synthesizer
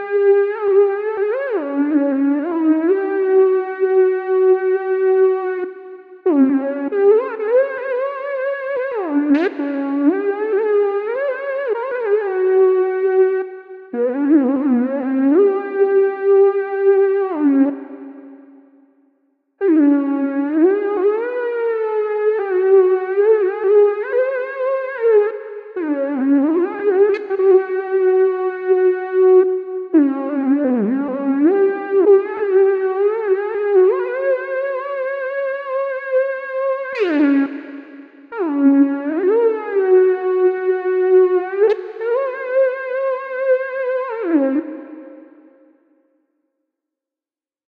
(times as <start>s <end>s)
19.8s 45.9s